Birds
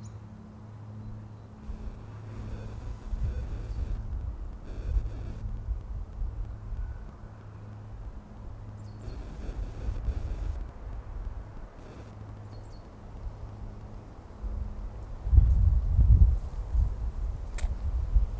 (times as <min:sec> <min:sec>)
0:06.4 0:10.6, 0:11.7 0:13.6